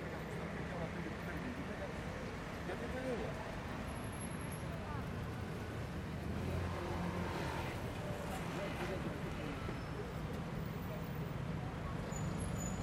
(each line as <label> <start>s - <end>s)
Mild traffic 0.0s - 12.8s
people passing by, talking 0.0s - 12.8s